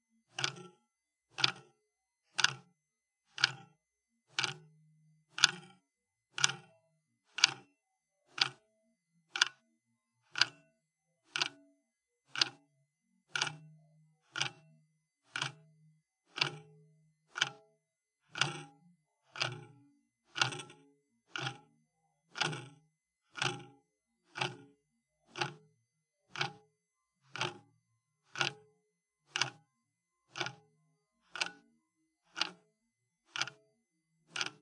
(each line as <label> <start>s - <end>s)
clock mechanism 0.3s - 1.7s
clock mechanism 2.4s - 2.6s
clock mechanism 3.3s - 3.7s
clock mechanism 4.3s - 4.6s
clock mechanism 5.3s - 6.7s
clock mechanism 7.3s - 7.6s
clock mechanism 8.3s - 8.6s
clock mechanism 9.3s - 9.6s
clock mechanism 10.3s - 10.6s
clock mechanism 11.3s - 11.6s
clock mechanism 12.3s - 12.6s
clock mechanism 13.3s - 13.6s
clock mechanism 14.3s - 14.6s
clock mechanism 15.3s - 15.6s
clock mechanism 16.3s - 16.7s
clock mechanism 17.3s - 17.6s
clock mechanism 18.3s - 18.7s
clock mechanism 19.3s - 21.7s
clock mechanism 22.3s - 23.7s
clock mechanism 24.3s - 24.7s
clock mechanism 25.3s - 25.6s
clock mechanism 26.3s - 26.6s
clock mechanism 27.3s - 27.6s
clock mechanism 28.3s - 28.6s
clock mechanism 29.3s - 29.6s
clock mechanism 30.3s - 30.6s
clock mechanism 31.3s - 31.6s
clock mechanism 32.3s - 32.6s
clock mechanism 33.3s - 33.6s
clock mechanism 34.3s - 34.6s